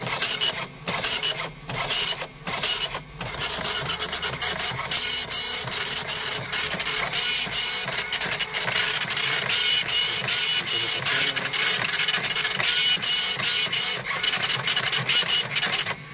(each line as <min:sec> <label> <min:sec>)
0:00.0 dot matrix printer 0:16.1